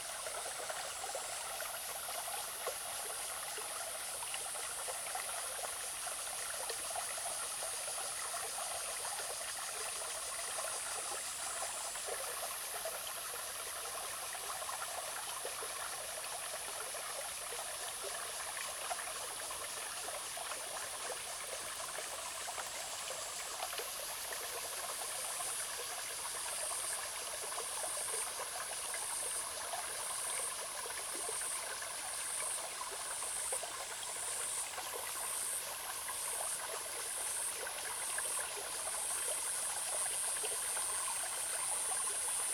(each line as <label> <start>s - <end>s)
Small streams 0.0s - 42.5s